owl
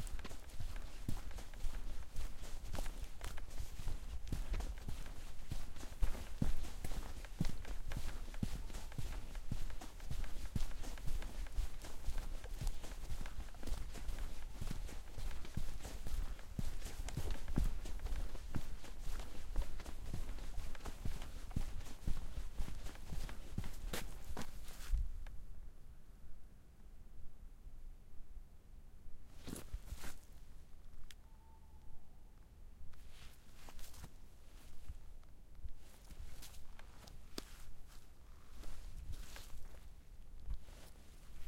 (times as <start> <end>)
31.2 32.3